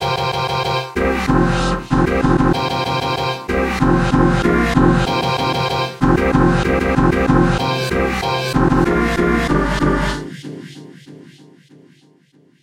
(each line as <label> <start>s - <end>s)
chord 0.0s - 10.3s
beat 0.0s - 10.3s